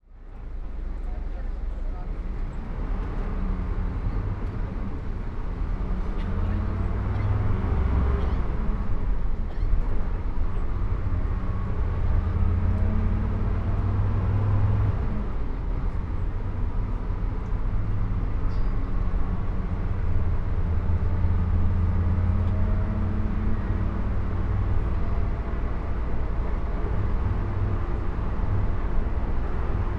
0.0s engine 29.9s

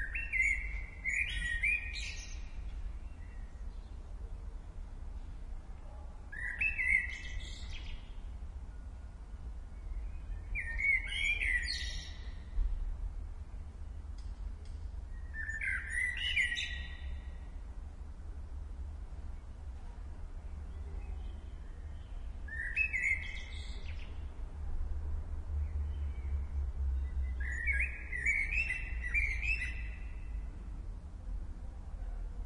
0.0s blackbird 4.0s
6.3s blackbird 8.2s
9.8s blackbird 12.6s
15.2s blackbird 17.5s
20.6s blackbird 24.3s
27.0s blackbird 30.5s

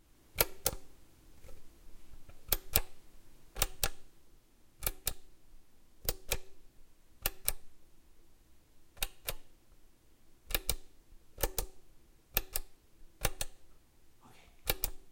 3.6s push button 4.0s
10.5s push button 11.8s
14.6s push button 15.0s

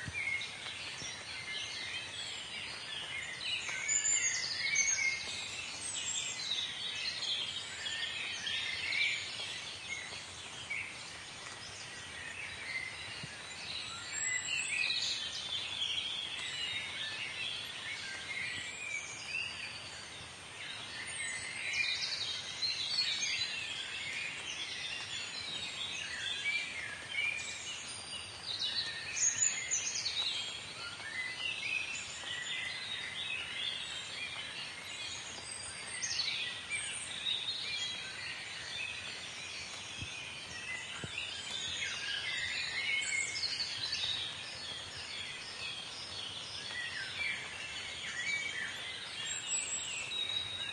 0.0s birdsong 50.7s

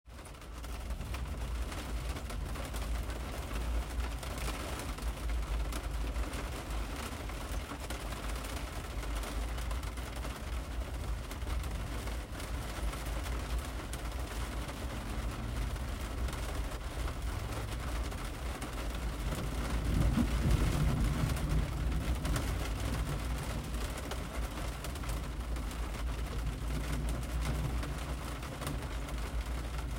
0.1s Medium Rain on Jeep Roof 29.9s

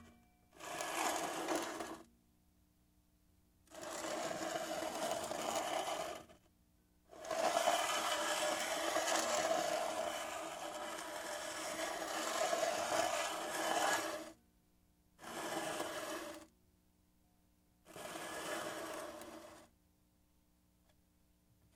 0.6s Empty soda can pushed across a hard surface 2.0s
7.2s Empty soda can pushed across a hard surface 14.3s
17.9s Empty soda can pushed across a hard surface 19.7s

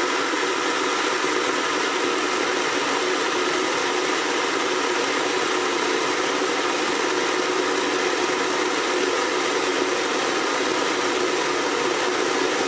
0.0s kettle boiling 12.6s

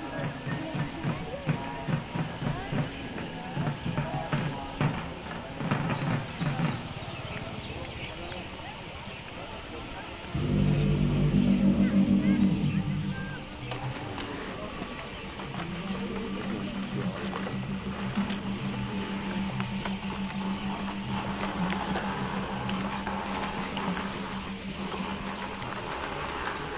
0.0s chant 26.7s
1.6s birds 26.7s

